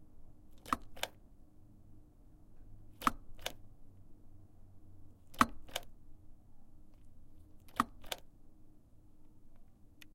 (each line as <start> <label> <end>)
0.6 locking and unlocking door 1.2
3.0 locking and unlocking door 3.6
5.3 locking and unlocking door 5.9
7.7 locking and unlocking door 8.3